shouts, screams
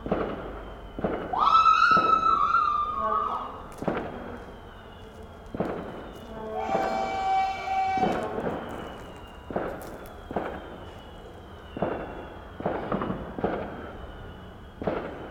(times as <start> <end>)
1.3 3.6, 6.6 8.2